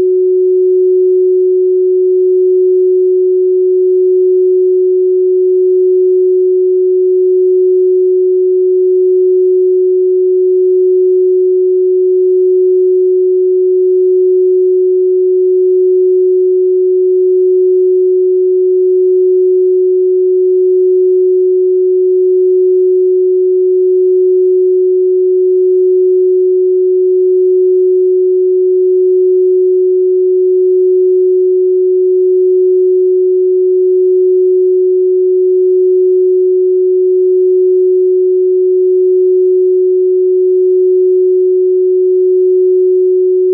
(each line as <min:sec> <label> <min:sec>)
0:00.0 Pure Sine Wave 0:43.5